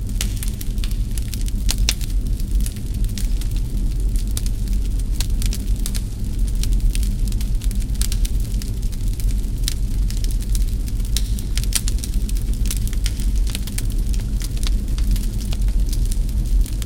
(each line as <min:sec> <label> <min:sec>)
0:00.0 Fire in a fireplace 0:16.8